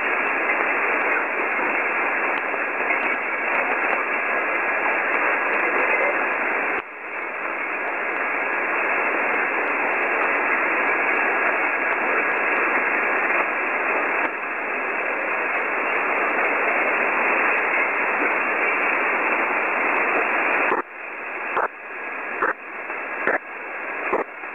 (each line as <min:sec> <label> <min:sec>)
0:00.0 static 0:24.5